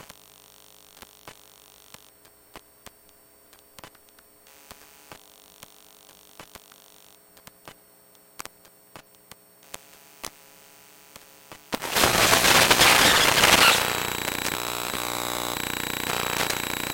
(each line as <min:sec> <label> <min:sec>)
0:11.8 Iphone 7 electromagnetic sounds 0:16.9